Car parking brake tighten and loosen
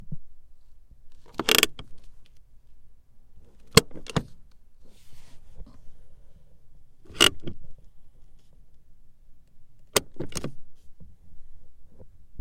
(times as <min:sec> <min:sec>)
0:01.1 0:02.0, 0:03.6 0:04.4, 0:07.0 0:07.7, 0:09.8 0:10.6